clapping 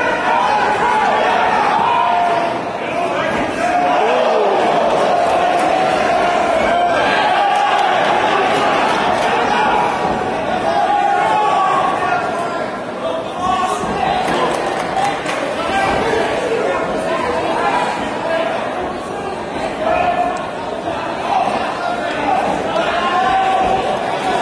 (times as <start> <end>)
14.5 15.4